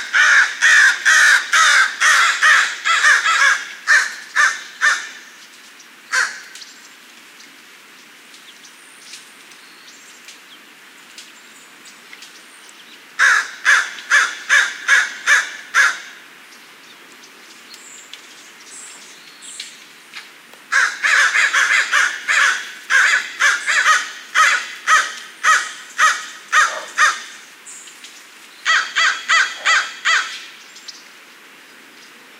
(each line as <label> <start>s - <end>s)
Crow Calls 0.0s - 5.2s
Crow Calls 6.1s - 6.6s
Crow Calls 13.2s - 16.2s
Crow Calls 20.7s - 27.5s
Crow Calls 28.7s - 30.5s